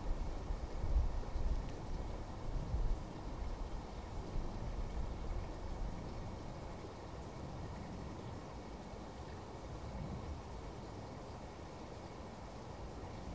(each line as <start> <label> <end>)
0.0 Wind 13.3